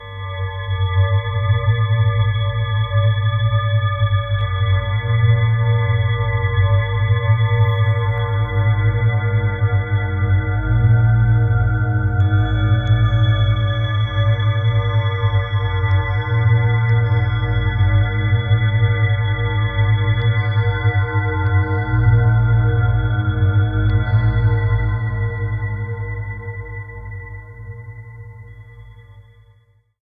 10.7s Drone bell sound 18.1s

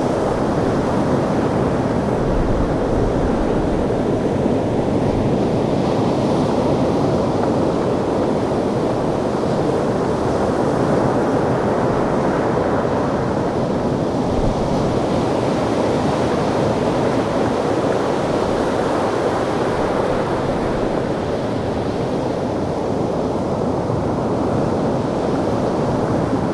0.0s waves 26.5s

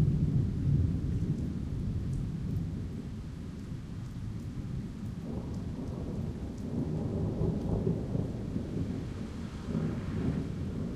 0.0s rain 10.9s
0.0s wind 10.9s
5.3s thunder 10.9s

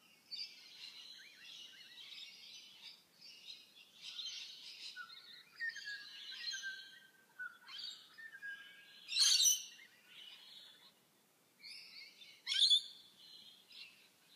0.0s bird tweets and chirps 14.3s

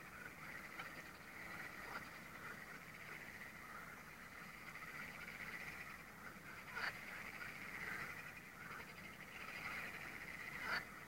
0.0s frogs 11.0s

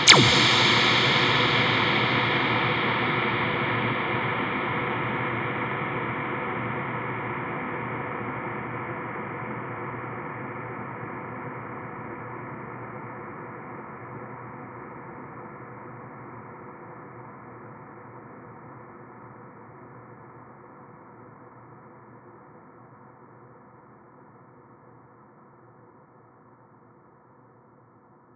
0.0s laser hit with a massive reverb 4.5s

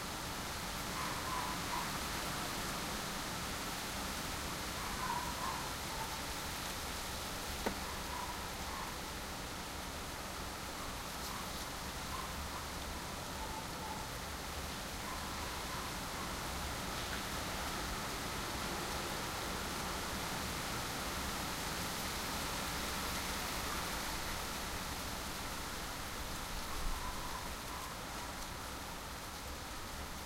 7.8s dogs barking 9.0s

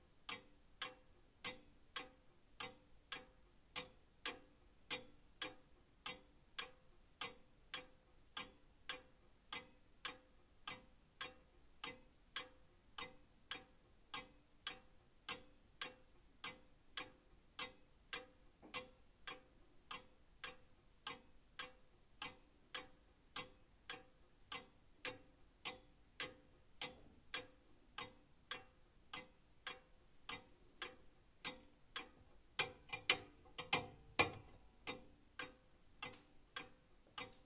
0.0s slightly irregular tick-tock sound 37.4s

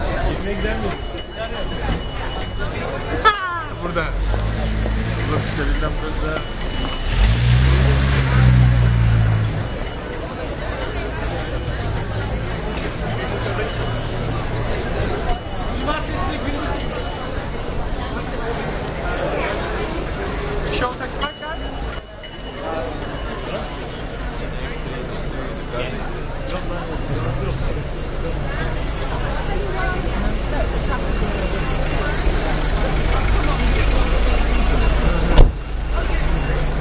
0.0s Taxi Bike Bells 36.8s

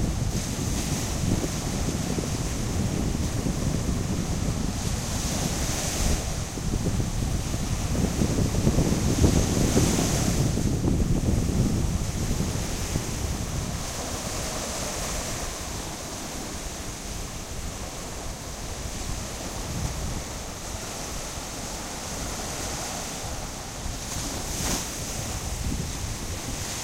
0.0s ocean waves washing up on the beach 26.8s
0.0s wind 26.8s

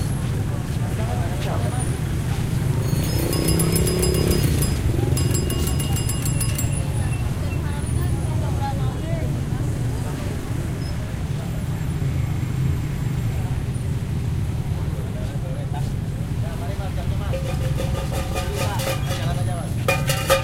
0.0s bikes 14.1s
0.0s pedestrian passing 20.4s

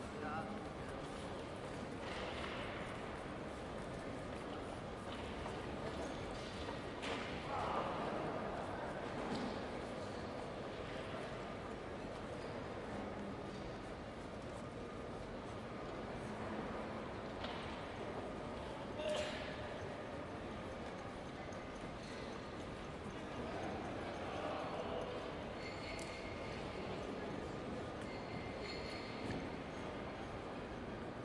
0.0s crowd 31.2s

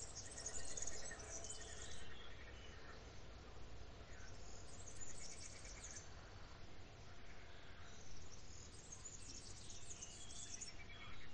0.0s birds are singing 11.3s

